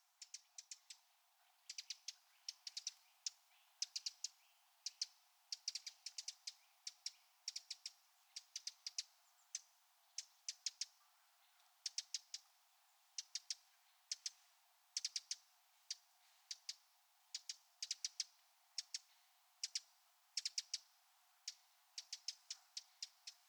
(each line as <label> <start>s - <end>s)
Eurasian wren bird singing 21.5s - 23.4s